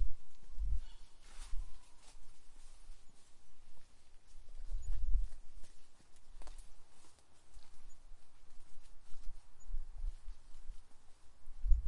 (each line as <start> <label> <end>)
0.0 birds 11.8
1.2 Steps 11.8